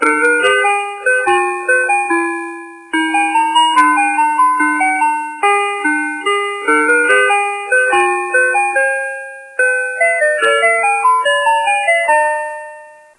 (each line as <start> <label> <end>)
0.0 Classic Ice Cream Truck Song 13.1